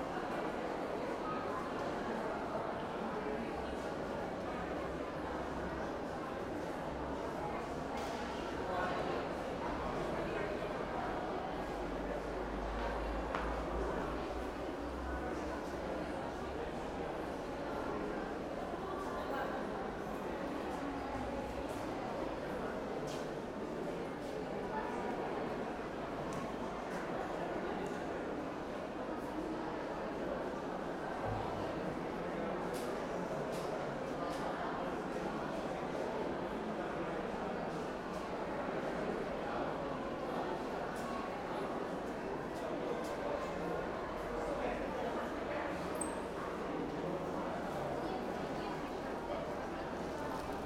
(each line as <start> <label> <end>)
0.0 People 50.6